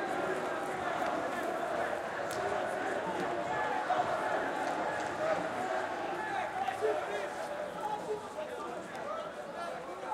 0.0s crowd 10.1s

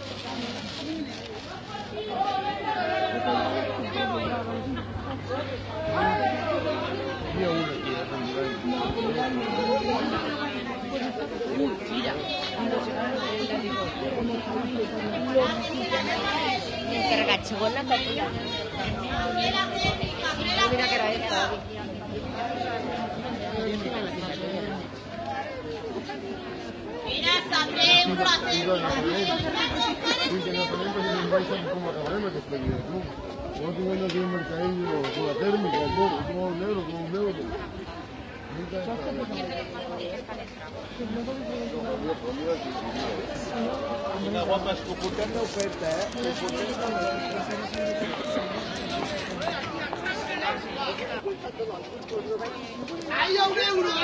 0.0s people 54.0s

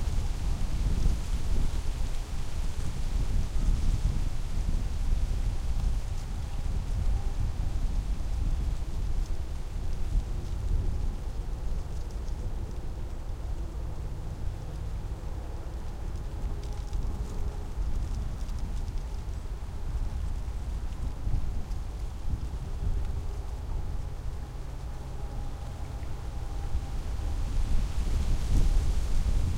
0.0s wind hissing through the leaves 29.5s

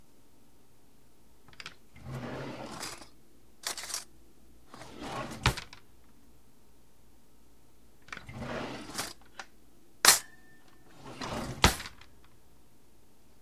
1.5s silver ware drawer opening then closing 4.1s
4.7s silver ware drawer opening then closing 5.8s
8.0s silver ware drawer opening then closing 9.4s
10.9s silver ware drawer opening then closing 12.1s

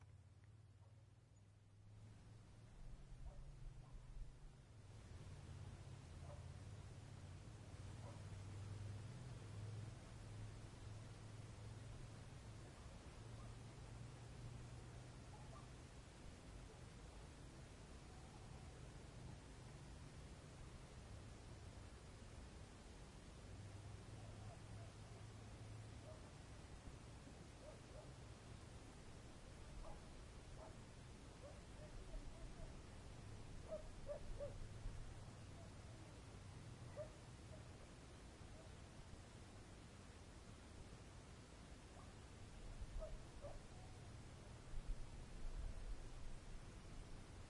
0.0s wind 47.4s
6.2s dogs 6.5s
8.0s dogs 8.3s
15.3s dogs 15.8s
26.0s dogs 26.3s
27.6s dogs 28.2s
29.8s dogs 30.8s
31.4s dogs 32.8s
33.6s dogs 34.6s
36.9s dogs 37.8s
43.0s dogs 43.7s

